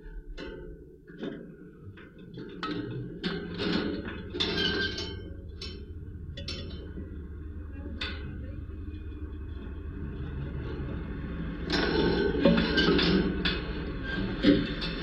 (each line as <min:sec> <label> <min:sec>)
0:00.0 footsteps and cars resonating through the wires 0:15.0